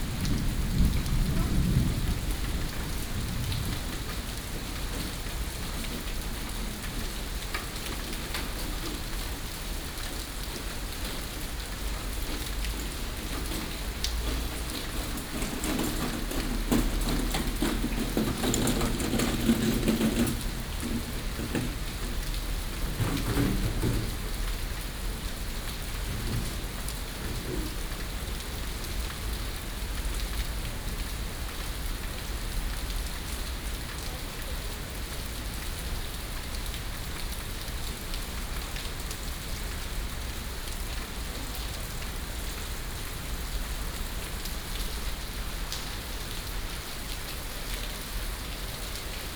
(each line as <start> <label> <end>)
0.0 Thunder 7.5
12.2 Thunder 30.2